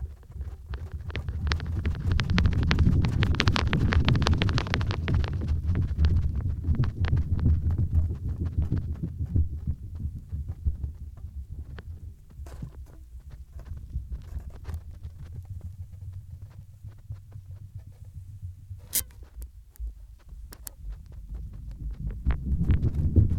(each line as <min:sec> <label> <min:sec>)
0:00.0 old reel tape in the wind 0:23.3